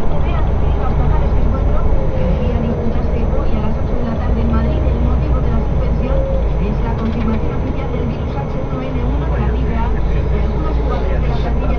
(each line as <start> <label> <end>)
0.0 bus 11.7